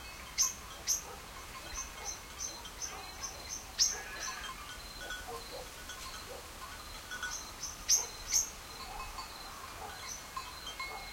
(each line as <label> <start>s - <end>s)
birds 0.0s - 11.1s
crickets 0.0s - 11.1s
leafy wind through trees 0.0s - 11.1s
sheep bells tinkle 0.0s - 11.1s
distant dogs bark 0.8s - 4.4s
distant dogs bark 5.0s - 6.6s
distant dogs bark 7.9s - 11.1s